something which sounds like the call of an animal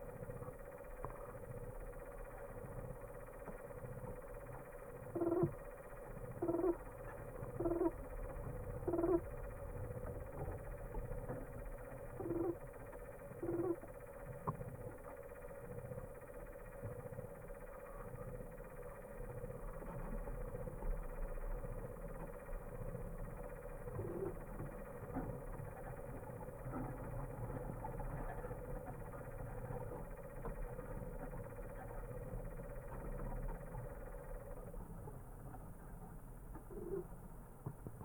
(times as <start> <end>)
5.0 9.4, 12.0 14.0